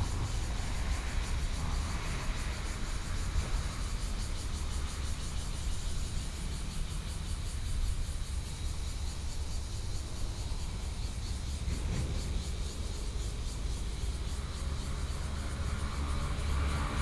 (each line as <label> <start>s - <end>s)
Cicadas sound 0.0s - 17.0s